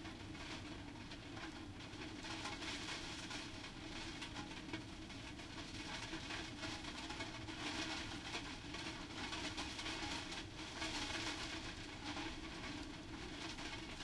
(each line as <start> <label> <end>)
0.0 Rain and storm from behind window 14.0